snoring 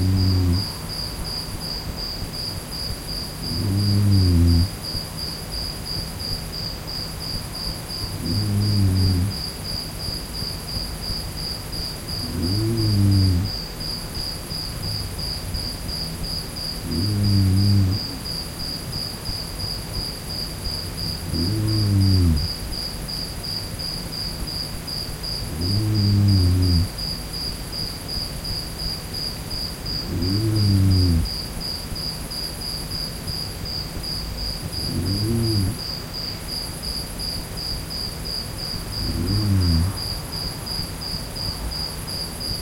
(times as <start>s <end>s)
0.0s 0.9s, 3.4s 4.8s, 7.6s 9.7s, 12.0s 13.7s, 14.8s 18.8s, 21.0s 22.7s, 25.4s 27.1s, 29.9s 31.5s, 34.6s 35.9s, 38.8s 40.3s